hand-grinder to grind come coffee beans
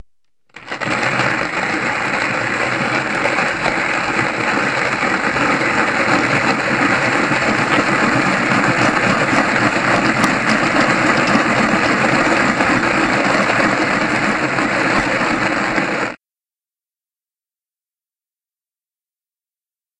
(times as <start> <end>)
0.5 16.2